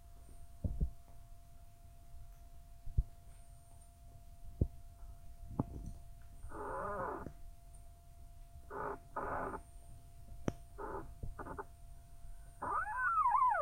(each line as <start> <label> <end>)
0.0 wind 13.6
6.4 squeeky tree 7.4
8.7 squeeky tree 9.8
10.6 squeeky tree 11.8
12.4 squeeky tree 13.6